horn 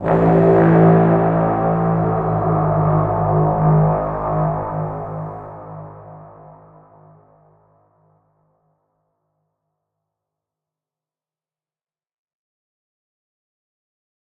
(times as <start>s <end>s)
0.0s 7.5s